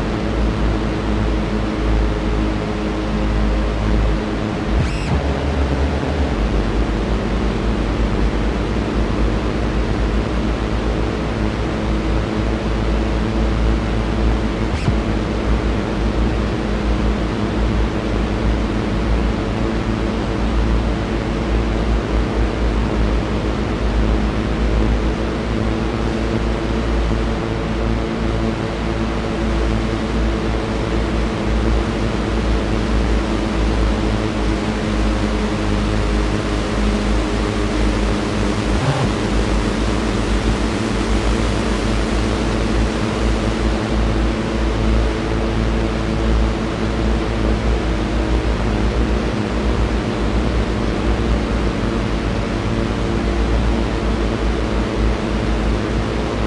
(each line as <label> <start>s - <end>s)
Drones 0.0s - 19.5s
Drones 21.1s - 51.3s